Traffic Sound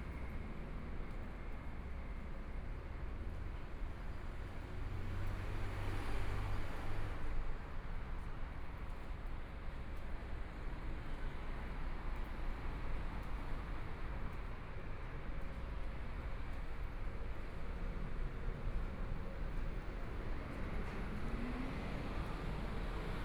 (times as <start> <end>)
17.8 23.2